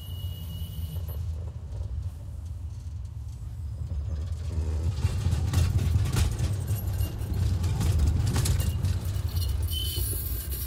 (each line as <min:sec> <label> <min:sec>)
0:00.0 Brakes squeals 0:01.8
0:00.0 tram on the turn 0:10.6
0:06.5 Brakes squeals 0:10.6